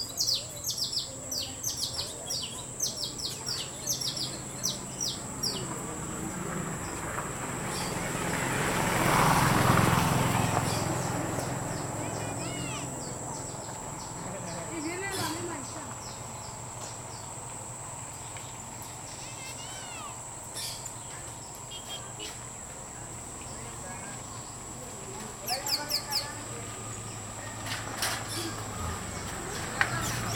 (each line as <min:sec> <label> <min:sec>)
0:10.1 niños juegan 0:13.6
0:18.9 niños juegan 0:20.5